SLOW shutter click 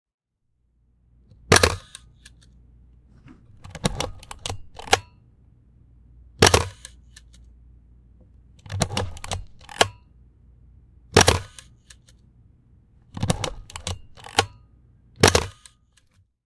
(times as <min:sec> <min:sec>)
0:01.5 0:02.6, 0:03.6 0:05.2, 0:06.4 0:07.5, 0:08.7 0:10.0, 0:11.1 0:12.2, 0:13.2 0:14.6, 0:15.2 0:16.1